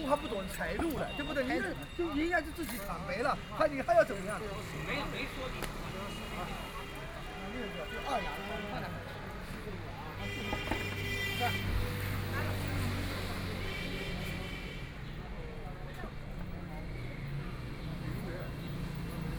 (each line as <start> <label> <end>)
0.0 Traffic Sound 19.3
0.0 walking in the Street 19.3